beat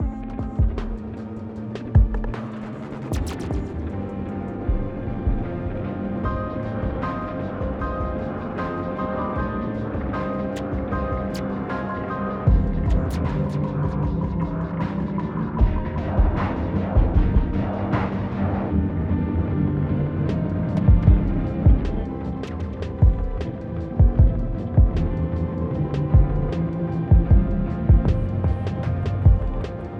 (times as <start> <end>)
12.5 18.4, 20.3 25.4, 26.0 29.9